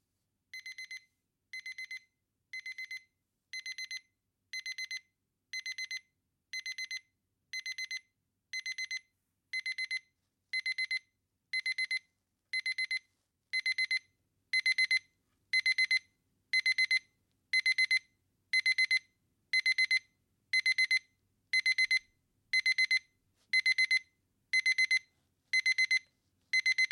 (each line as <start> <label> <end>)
24.6 electric alarm clock sounds 25.0
25.6 electric alarm clock sounds 26.0
26.6 electric alarm clock sounds 26.9